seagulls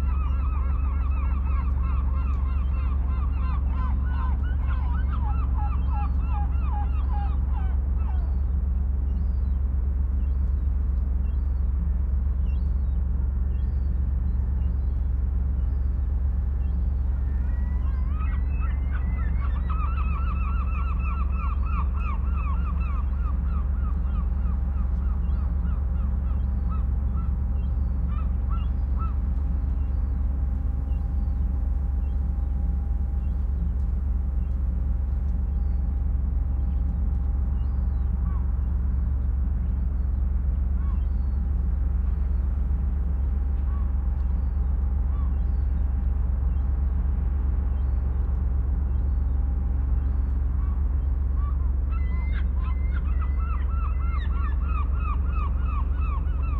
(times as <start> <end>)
0.0 8.5, 16.6 29.2, 50.0 56.5